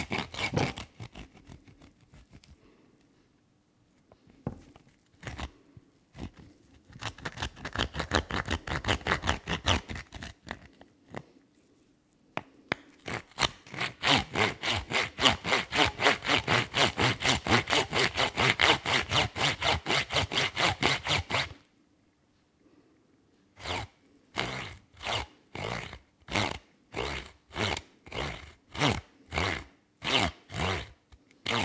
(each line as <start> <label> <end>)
0.0 bone sawing 2.6
5.1 bone sawing 10.8
13.0 bone sawing 21.6
23.6 bone sawing 31.6